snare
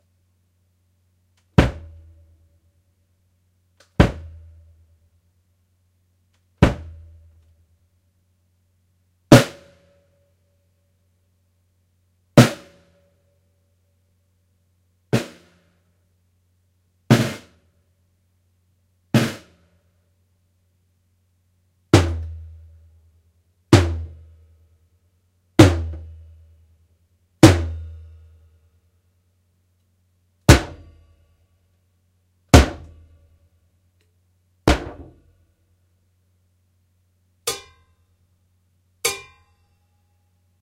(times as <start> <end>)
1.4 2.0, 3.8 4.4, 6.4 7.0, 9.3 10.0, 12.4 13.1, 15.1 15.8, 17.1 17.7, 19.2 19.8, 32.5 33.0